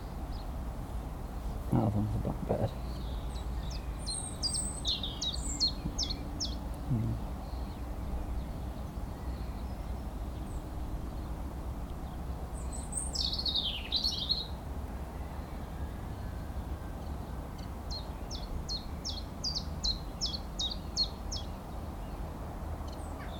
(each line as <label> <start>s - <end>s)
bird calls 1.8s - 11.3s
bird calls 12.0s - 14.6s
bird calls 22.9s - 23.3s